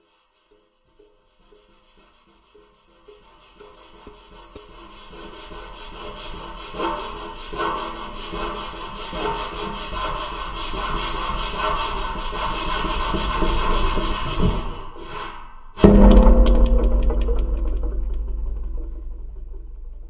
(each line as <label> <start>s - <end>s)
Rubbing the dish 0.9s - 15.1s